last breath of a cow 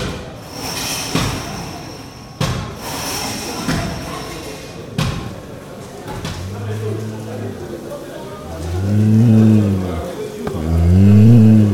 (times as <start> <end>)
8.4 11.7